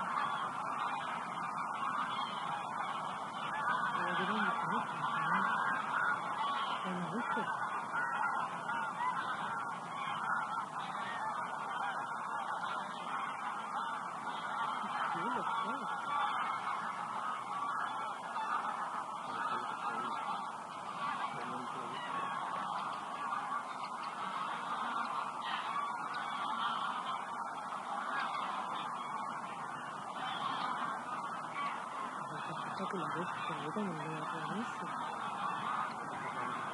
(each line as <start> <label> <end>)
0.0 Several hundred Greylag geese on migration 36.7